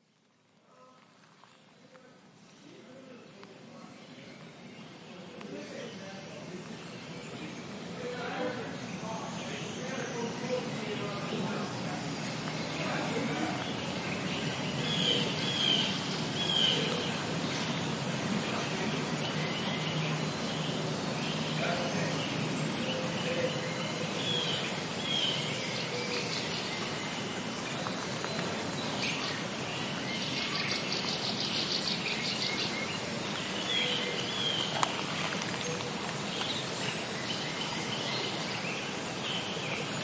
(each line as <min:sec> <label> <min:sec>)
0:00.0 birds 0:40.0
0:00.0 light stream 0:40.0
0:00.6 distant voices 0:40.0